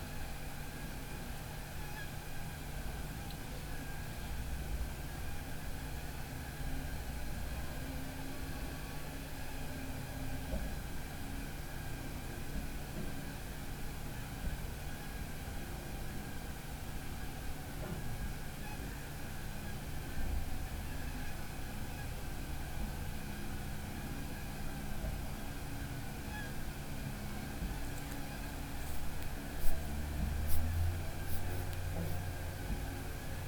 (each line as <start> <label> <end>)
0.0 motor sounds from the rigs on the lake 33.4